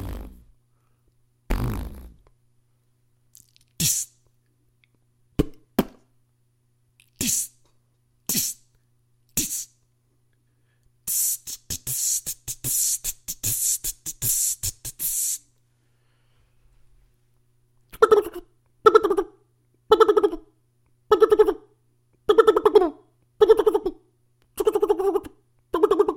0.0s Beatbox sounds 0.5s
1.5s Beatbox sounds 2.3s
3.4s Beatbox sounds 4.2s
7.0s Beatbox sounds 7.6s
8.3s Beatbox sounds 8.6s
9.3s Beatbox sounds 9.8s
11.1s Beatbox sounds 15.5s
17.9s Beatbox sounds 19.3s
22.3s Beatbox sounds 26.1s

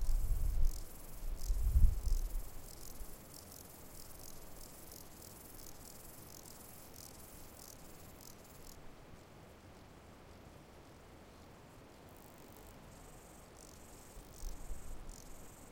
0.0s Grasshoppers 8.8s
12.0s Grasshoppers 15.7s

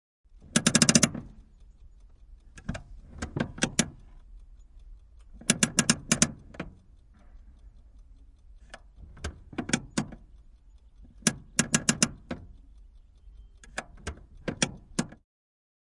0.3s Handbrake, old car, clicks, crackles and creaks 4.6s
5.2s Handbrake, old car, clicks, crackles and creaks 7.8s
8.6s Handbrake, old car, clicks, crackles and creaks 15.2s

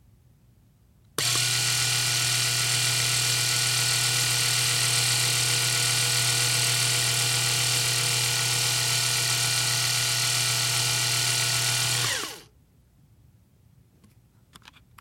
1.2s electric razor 12.4s

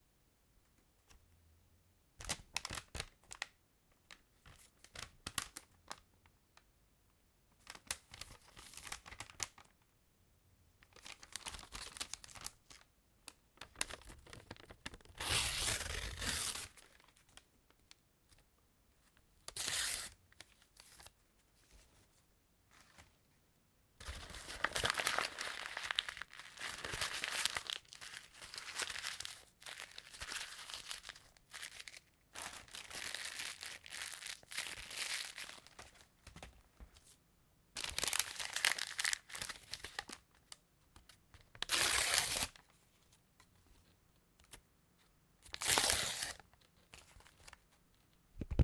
41.6s tear paper and plastic paper 42.6s
45.5s tear paper and plastic paper 46.4s

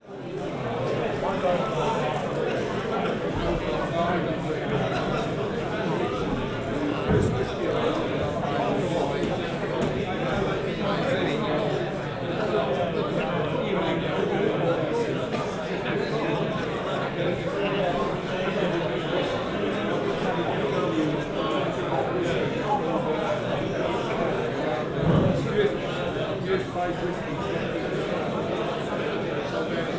0.0s lots and lots of people talking 29.9s

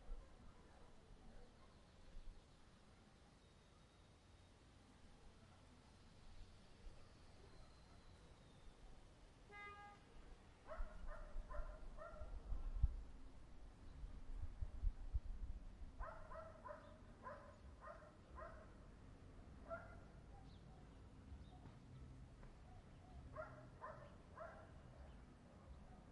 10.7s dogs 12.4s
10.7s wind noise 16.8s
16.0s dogs 18.7s
19.6s dogs 20.6s
22.6s dogs 24.8s

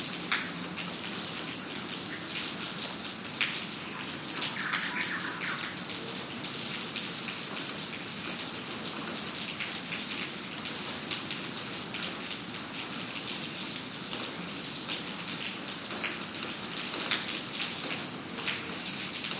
0.0s rain on pavement 19.3s
3.8s bird callings 5.9s

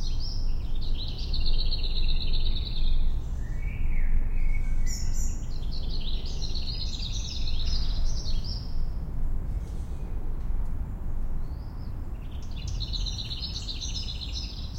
0.0s Black Redstart 9.0s
11.4s Black Redstart 14.7s

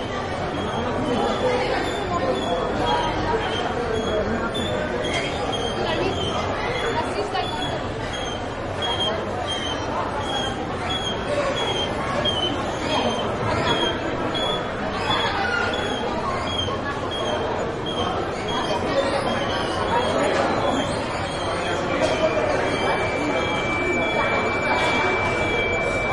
0.0s crowd 26.1s

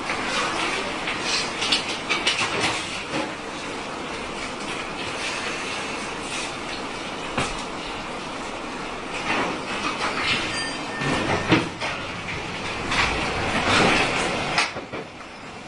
8.2s tramway 15.6s

